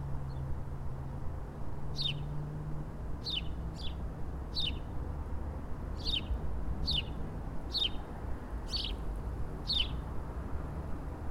Birds 1.9 - 2.3
Birds 3.2 - 4.9
Birds 6.0 - 10.1

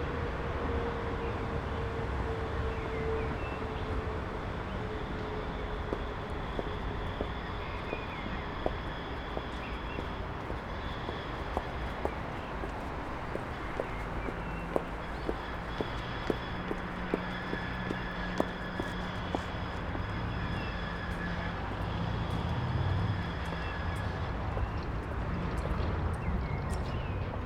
heavy traffic 0.0 - 27.4
trains and trams passing 0.0 - 27.4
people getting off trams 3.2 - 26.0
birds can be heard from bushes around 4.7 - 19.5

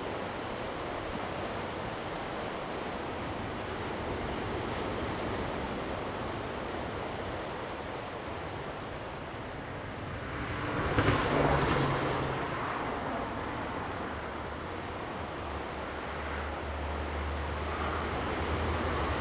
waves 0.0 - 19.2
Traffic Sound 9.7 - 19.2

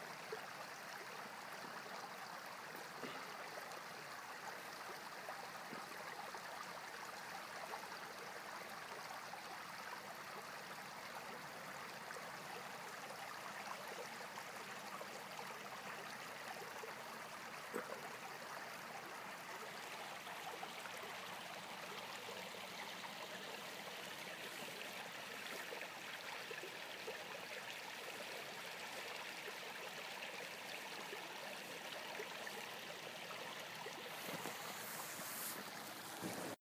small brook 0.0 - 36.6

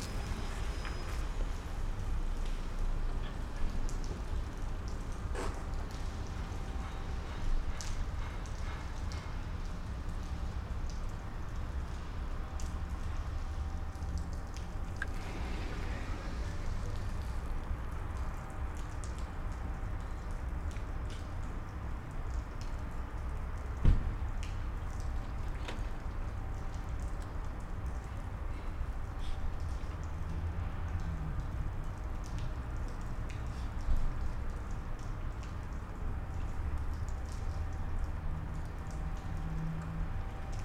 Dripping water 0.0 - 40.6

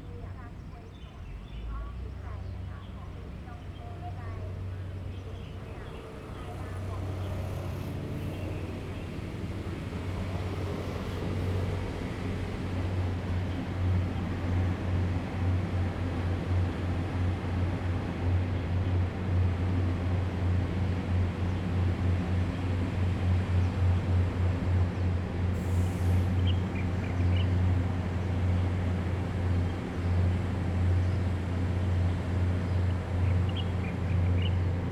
Traffic Sound 4.5 - 16.6
Birdsong 26.2 - 34.9

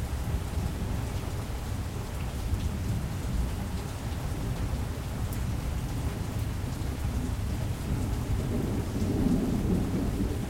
rain 0.0 - 10.4
Thunder 8.5 - 10.4

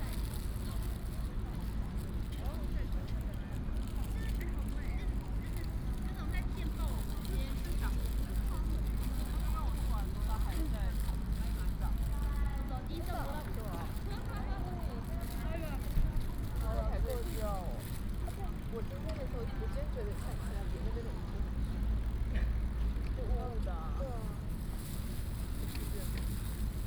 Bicycle sound 0.0 - 26.8
Traffic Sound 5.1 - 26.8

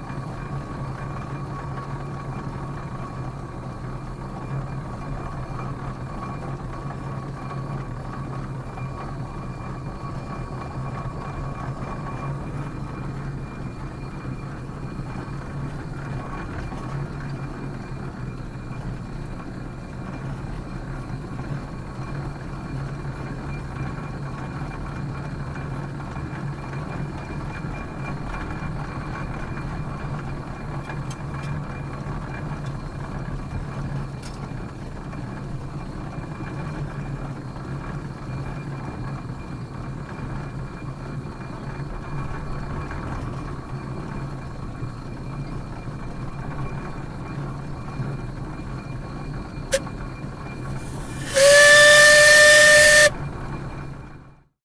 Travelling in a 1930s steam engine 0.0 - 54.4
hiss of the steam 50.7 - 53.1
steam whistle sounds 50.7 - 53.1

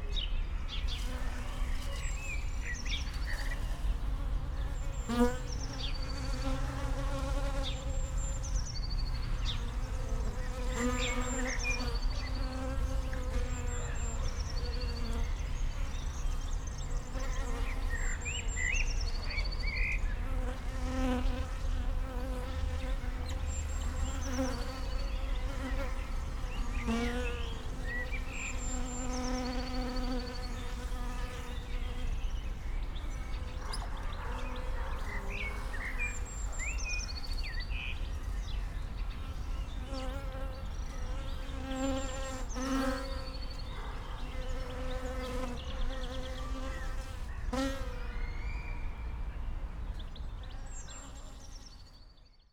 bees gathering at a water container 0.9 - 8.6
bees gathering at a water container 9.3 - 32.4
bees gathering at a water container 37.7 - 48.3

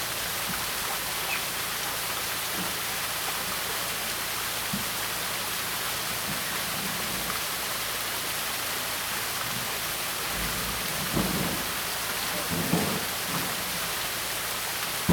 water 0.0 - 15.1
Birds call 0.8 - 1.7
Track construction 10.4 - 15.1

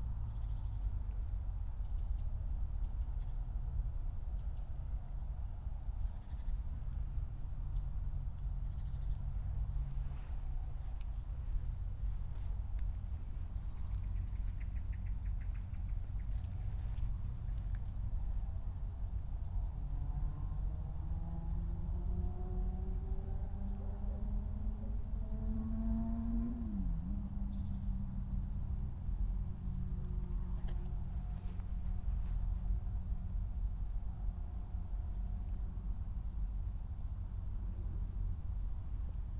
birds sing and flutter 0.0 - 20.7
birds sing and flutter 27.3 - 28.2
muddy walk 30.6 - 32.8

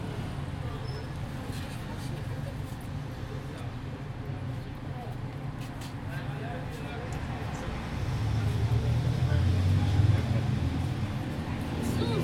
Streetnoise 0.0 - 12.2

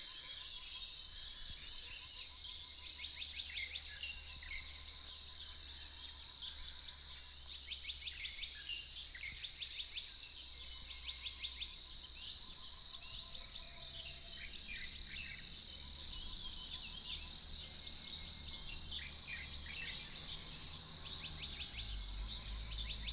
Birdsong 8.0 - 23.1
Frogs chirping 10.3 - 23.1

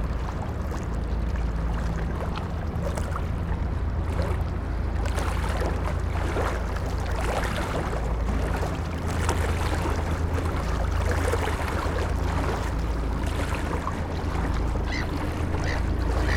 ships' engines 0.0 - 16.3
waves splashing 0.0 - 16.3
birds 14.8 - 16.3

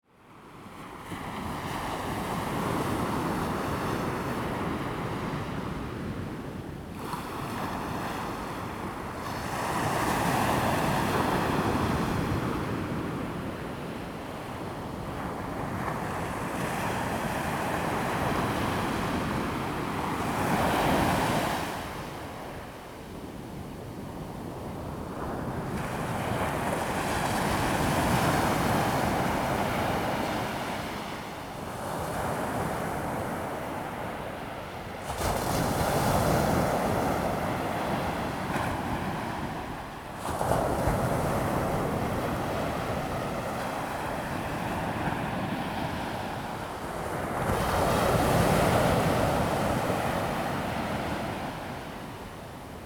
waves 0.9 - 23.3
waves 24.0 - 52.8

